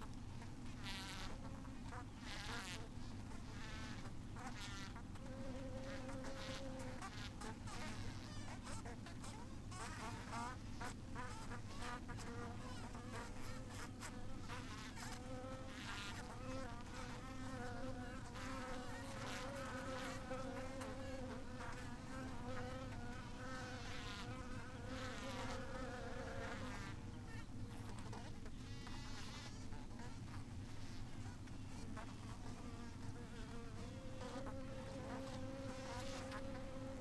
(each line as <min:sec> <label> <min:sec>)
0:00.4 bee swarm 0:30.4